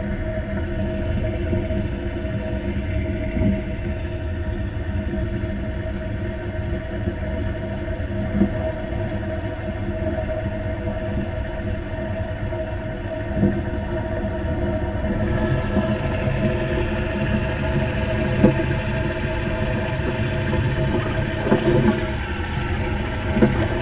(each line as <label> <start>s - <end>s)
old school train toilet 14.0s - 23.8s